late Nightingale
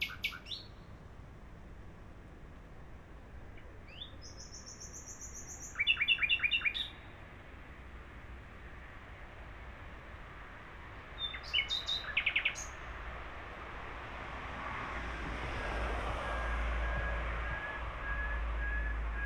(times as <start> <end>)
0.0 1.0, 3.5 7.2, 11.2 12.9